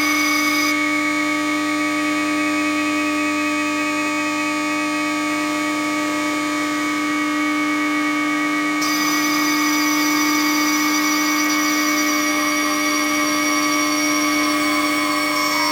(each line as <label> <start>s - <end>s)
Electromagnetic travel inside a train 0.0s - 0.8s
Electromagnetic travel inside a train 8.8s - 15.7s